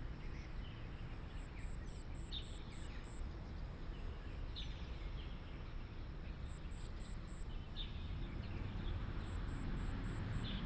traffic sound 0:08.1 - 0:10.6

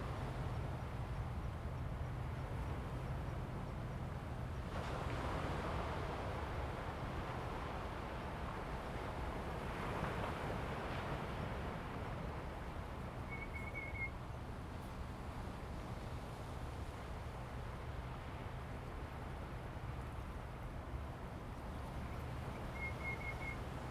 waves 0:00.1 - 0:23.9

